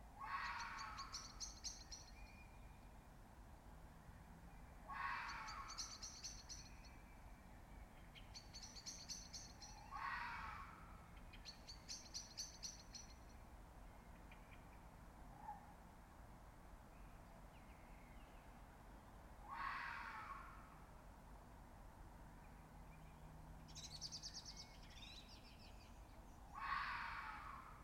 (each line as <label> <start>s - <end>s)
Fox Screaming 0.2s - 1.0s
Fox Screaming 9.9s - 10.7s
Fox Screaming 19.5s - 20.5s
Fox Screaming 26.6s - 27.7s